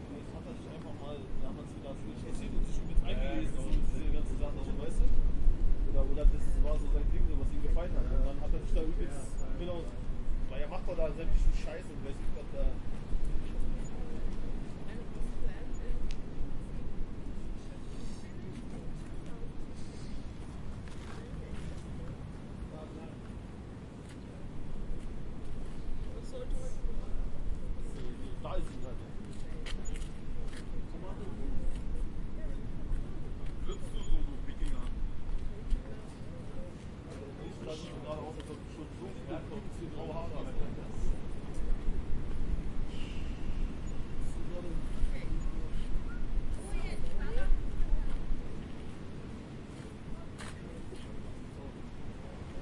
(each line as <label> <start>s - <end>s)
street noise 0.0s - 52.6s
wind noise 1.2s - 36.2s